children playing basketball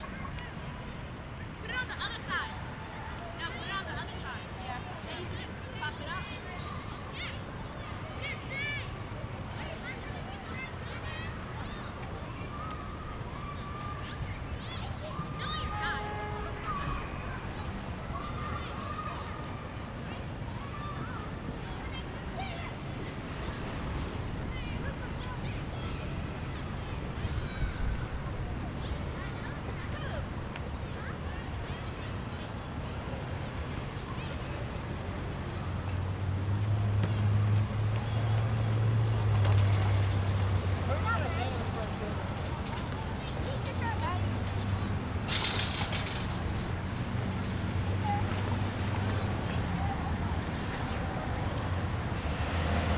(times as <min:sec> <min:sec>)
0:06.4 0:23.5